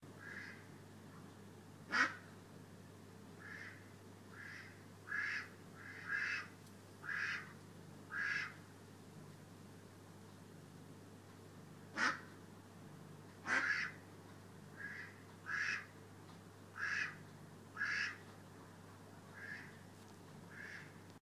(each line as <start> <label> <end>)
0.2 ducks 1.3
1.9 ducks 2.3
3.4 ducks 8.6
11.9 ducks 12.3
13.4 ducks 14.0
14.7 ducks 16.0
16.7 ducks 18.3
19.3 ducks 19.8
20.5 ducks 21.0